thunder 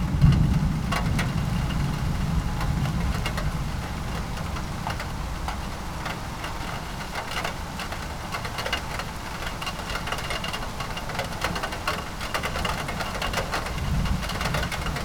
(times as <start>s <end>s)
0.0s 4.8s, 13.6s 15.0s